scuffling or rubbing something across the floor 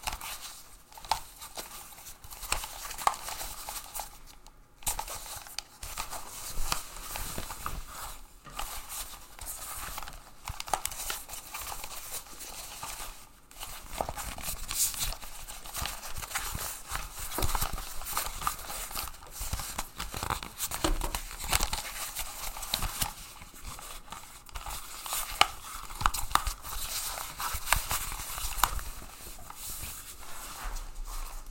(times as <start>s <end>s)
26.8s 31.5s